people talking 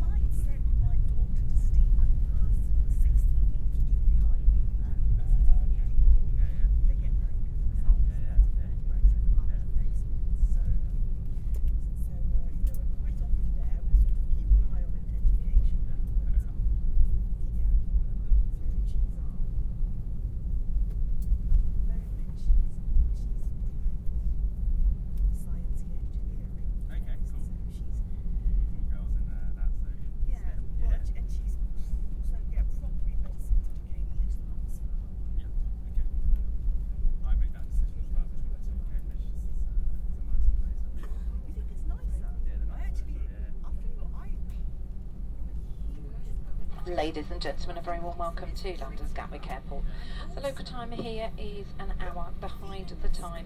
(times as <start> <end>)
0.0 10.8, 11.8 16.6, 17.4 19.4, 25.4 28.0, 40.1 44.5, 45.7 53.4